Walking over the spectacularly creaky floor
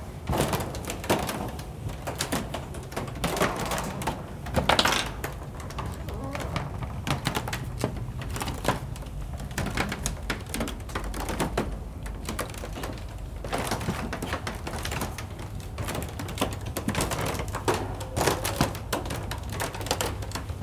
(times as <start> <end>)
2.5 14.9